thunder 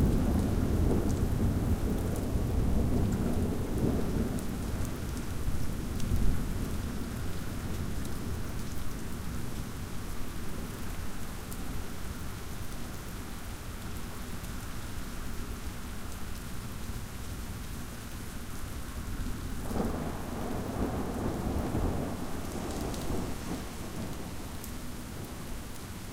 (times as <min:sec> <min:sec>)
0:19.6 0:24.6